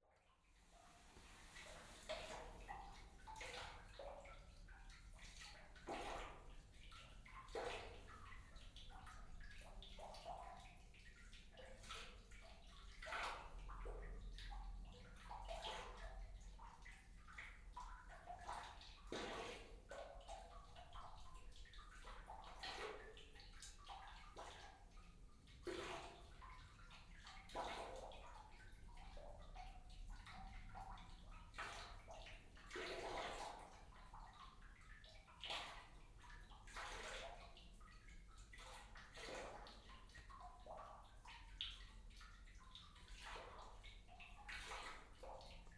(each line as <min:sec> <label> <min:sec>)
0:00.0 Water 0:45.7